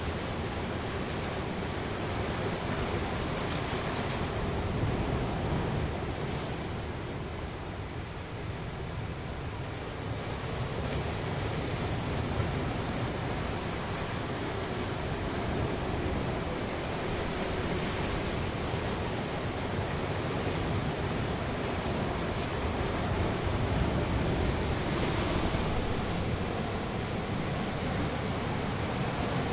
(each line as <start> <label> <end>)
0.0 ocean waves breaking on a rocky ledge 29.5